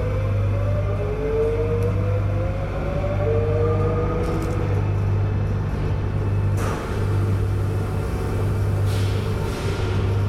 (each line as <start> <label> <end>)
0.0 train approaching with amazing bass sounds 6.5